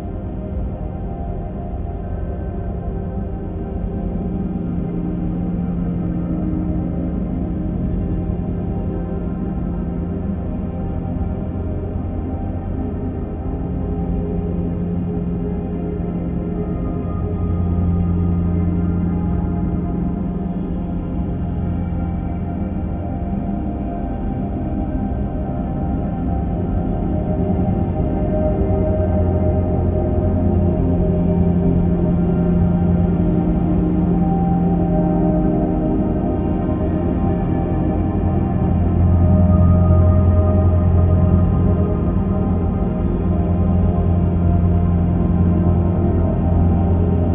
slowly evolving dreamy ambient drone pad 0:00.0 - 0:47.3

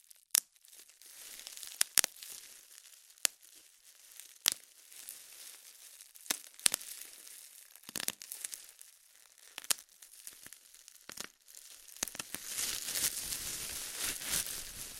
Bubble wrap 0:00.0 - 0:14.9

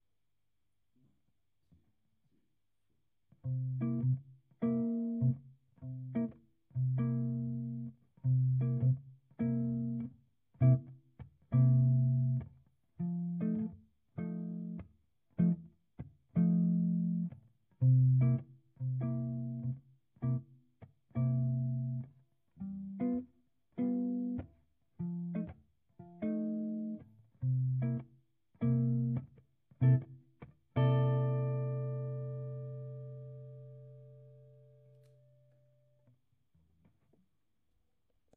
guitar 0:03.3 - 0:37.2

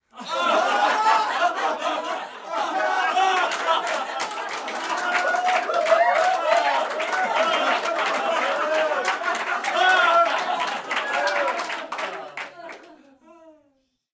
cheering 0:00.1 - 0:13.1
applause 0:03.0 - 0:13.1

